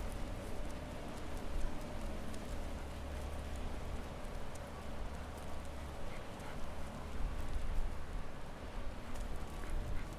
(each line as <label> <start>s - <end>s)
Walking by a Construction Zone 0.0s - 10.1s